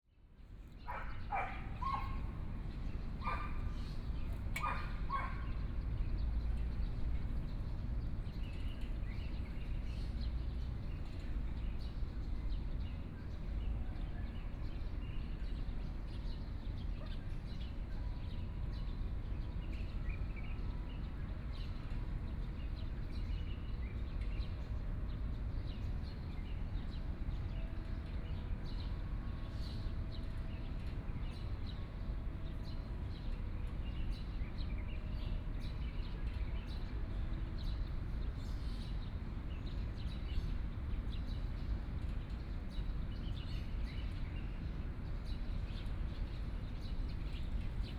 Birds 0:00.7 - 0:07.6

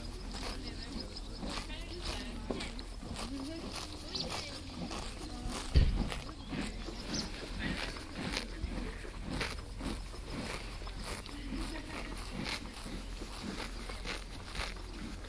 two horses 0:00.0 - 0:15.2

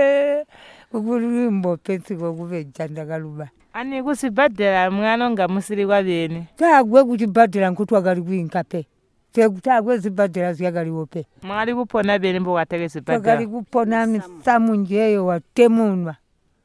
responds to Margaret’s questions 0:09.4 - 0:16.2

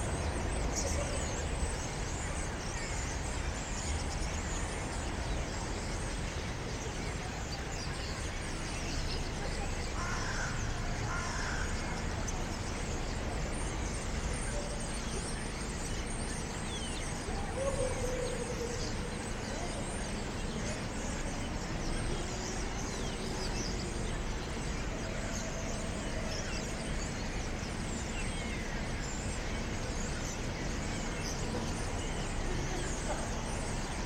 sounds from the surrounding houses 0:00.0 - 0:34.0
starlings on construction cranes 0:00.0 - 0:34.0

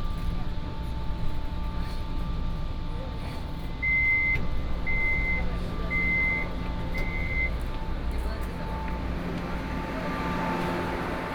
Red Line (KMRT) 0:00.0 - 0:11.3

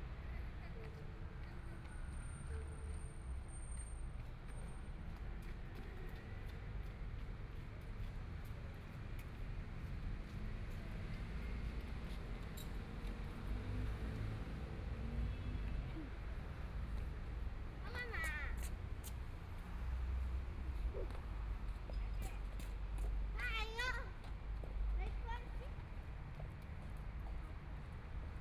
Traffic Sound 0:09.4 - 0:28.4

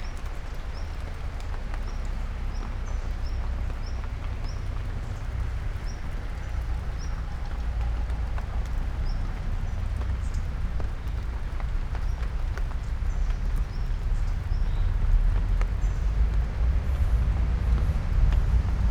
rain drops on leaves 0:00.0 - 0:18.9

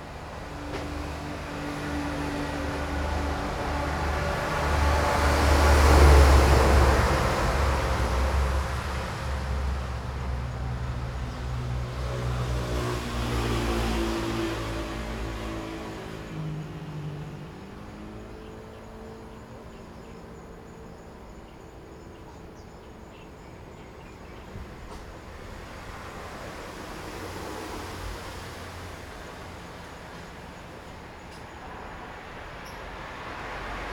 Traffic Sound 0:00.0 - 0:33.9
Train traveling through 0:00.0 - 0:33.9

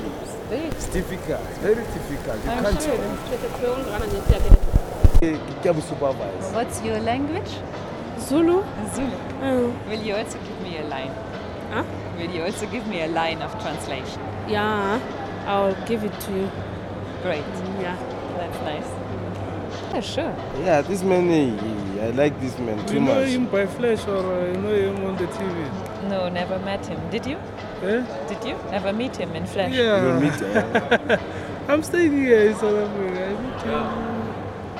read sentences 0:29.7 - 0:31.6

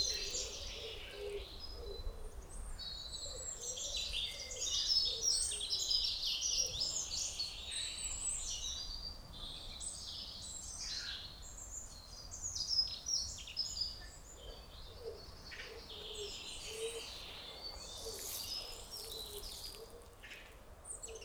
birds sing in the forest 0:00.0 - 0:21.2
person is working in a garden 0:14.2 - 0:21.2

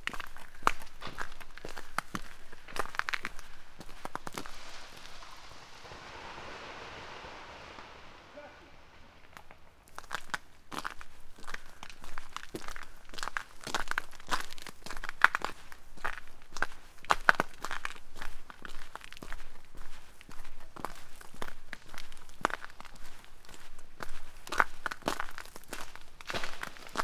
trees are breaking all over 0:00.0 - 0:14.4
frozen rain 0:00.0 - 0:19.4
frozen rain 0:21.0 - 0:27.0
trees are breaking all over 0:24.8 - 0:27.0

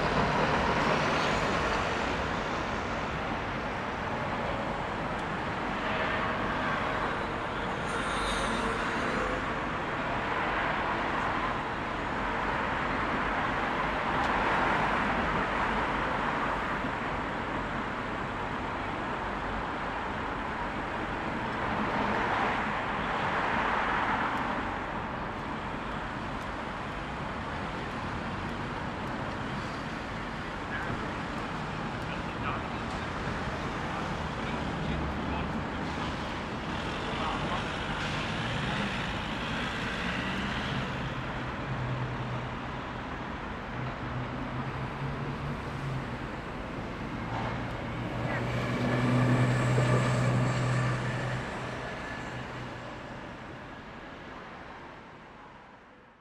locals and visitors passing 0:20.0 - 0:55.0

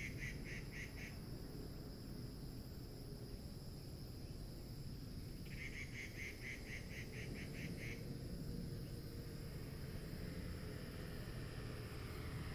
traffic sound 0:09.2 - 0:12.5

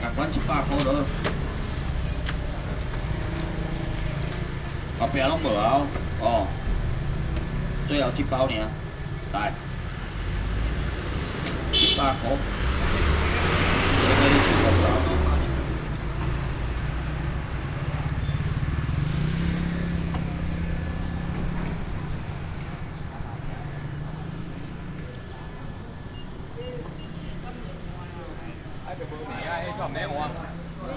Fishmonger 0:00.0 - 0:06.8
Traffic sound 0:00.0 - 0:30.9
Fishmonger 0:11.7 - 0:24.9

